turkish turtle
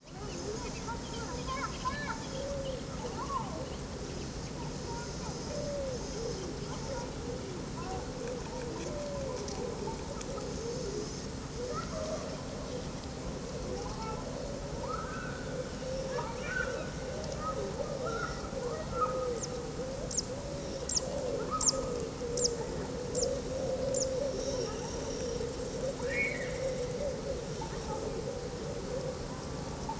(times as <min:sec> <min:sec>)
0:04.9 0:18.2